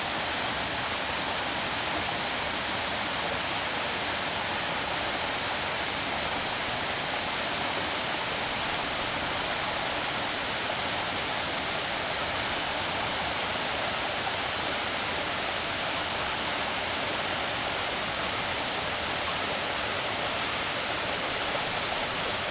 0.0s stream 22.5s
0.0s waterfalls 22.5s

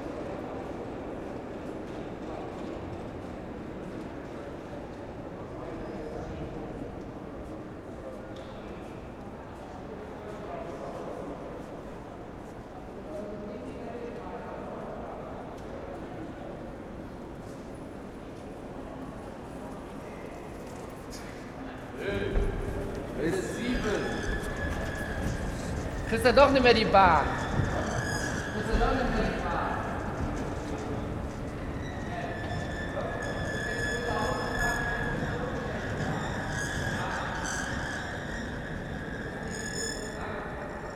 0.0s people going down to the subway 40.9s
14.1s singing escalator 40.9s

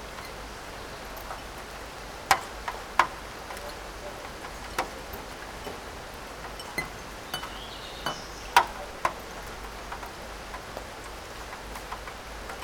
0.1s raindrops onto porcelain cups, plates, shelf 12.6s

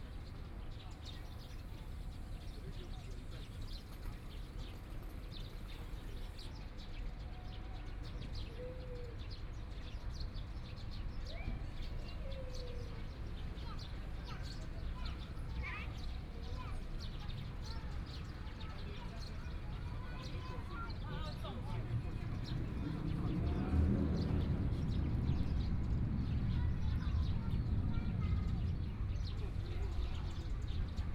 12.3s Traffic Sound 31.1s

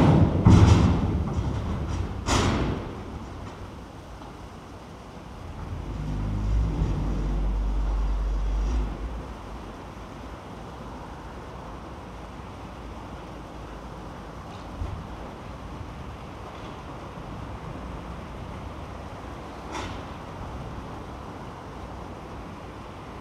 0.0s thundering of the grabber into the barge 3.4s
0.0s heavy traffic 23.2s

